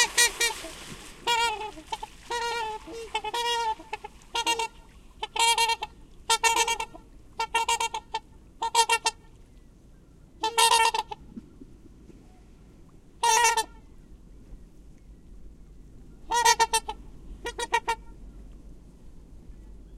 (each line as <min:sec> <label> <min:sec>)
0:00.0 Trumpeter Swans land on water 0:05.6
0:00.0 distinctive honking calls 0:09.2
0:13.2 distinctive honking calls 0:13.9
0:16.2 distinctive honking calls 0:18.2